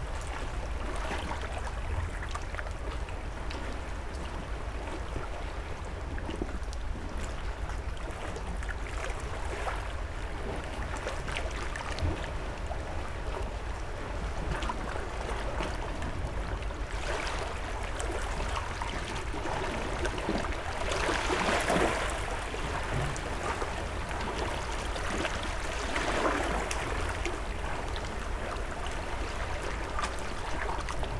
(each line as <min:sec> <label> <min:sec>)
0:14.5 water splashing in the small, rocky dock 0:31.1